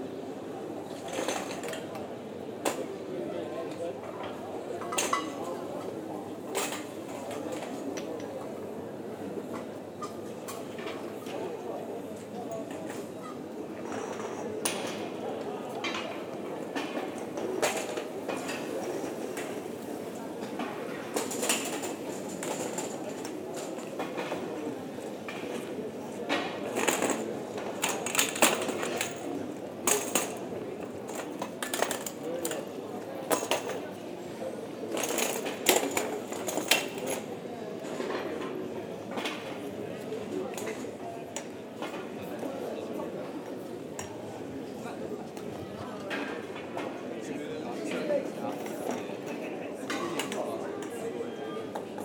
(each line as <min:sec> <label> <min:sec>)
0:15.6 Waiters prepairing the bars terraces 0:38.6